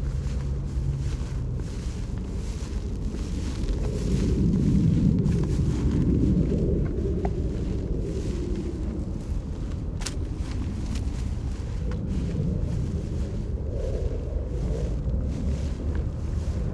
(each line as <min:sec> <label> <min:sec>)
0:00.0 footsteps in grass 0:16.7